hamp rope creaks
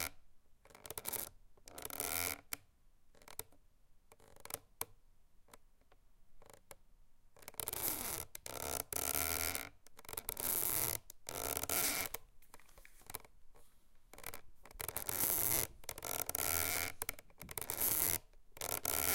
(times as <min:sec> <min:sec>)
0:07.4 0:19.1